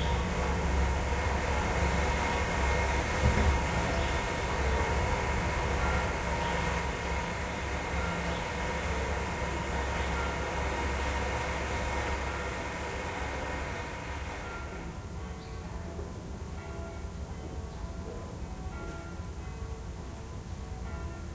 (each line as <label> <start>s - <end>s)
Church bells 0.0s - 21.3s